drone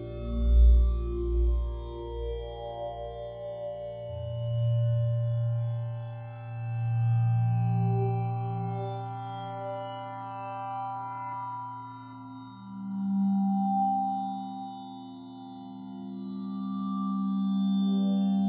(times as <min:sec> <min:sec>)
0:00.0 0:11.4